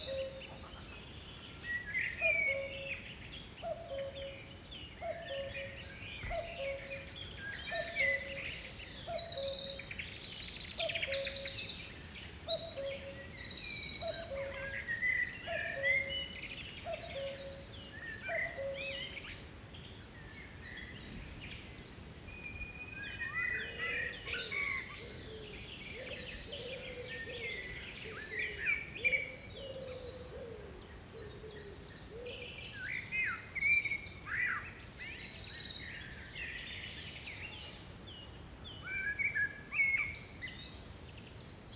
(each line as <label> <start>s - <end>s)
cuckoo 0.0s - 1.0s
Birds in the garden 0.0s - 41.7s
cuckoo 2.2s - 3.0s
cuckoo 3.6s - 4.4s
cuckoo 5.0s - 7.1s
cuckoo 10.8s - 11.6s
cuckoo 12.5s - 13.2s
cuckoo 14.0s - 14.8s
cuckoo 15.4s - 19.2s
cuckoo 23.2s - 32.6s